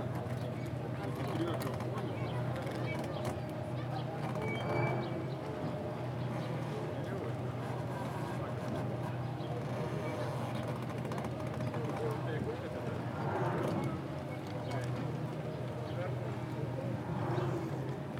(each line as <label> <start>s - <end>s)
tourists passing by 11.3s - 18.1s